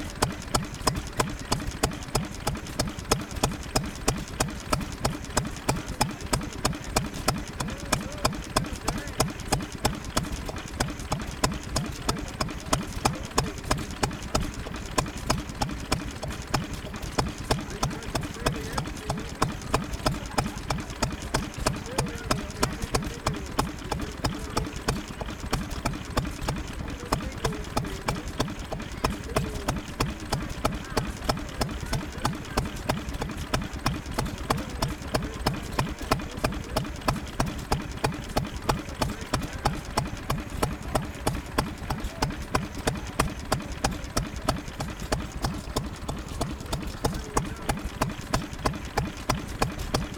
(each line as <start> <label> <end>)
0.0 Bamford Stationary Engine 50.1